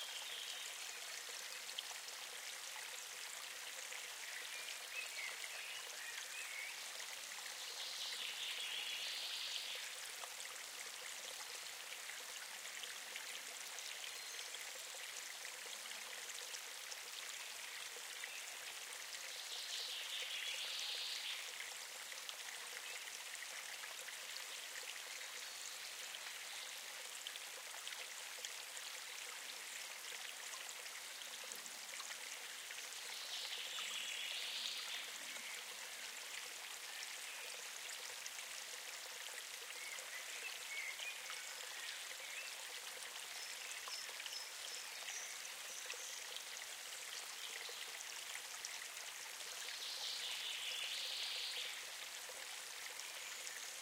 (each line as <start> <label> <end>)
0.0 small stream of water 53.8